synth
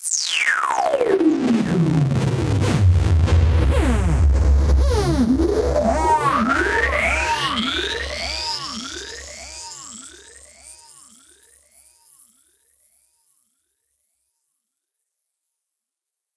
0.5 10.9

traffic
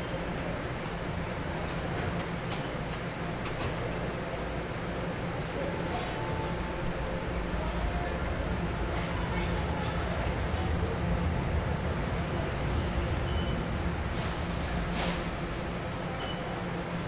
6.8 16.9

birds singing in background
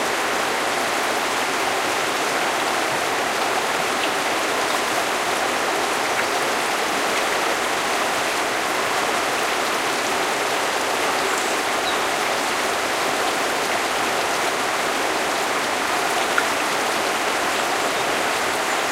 11.1 12.1

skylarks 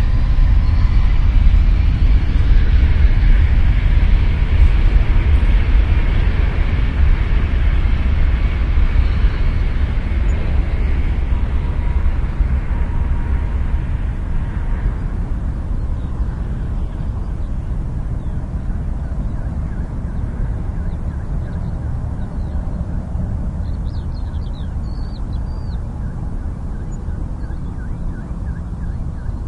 8.4 29.4

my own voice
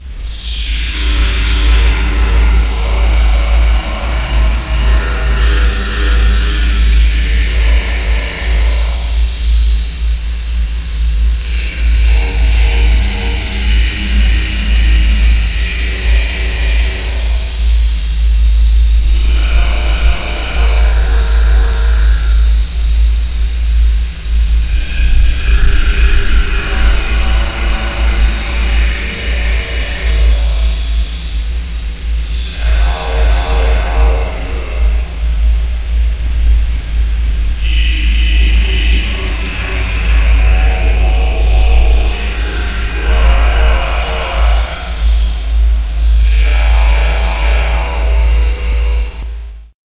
0.4 9.2, 19.1 22.3, 24.7 30.8, 32.3 35.4, 37.6 49.3

